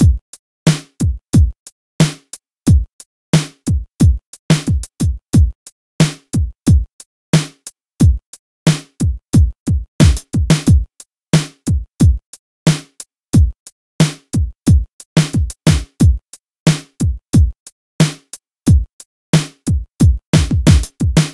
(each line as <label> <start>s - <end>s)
hiphop beat 0.0s - 21.3s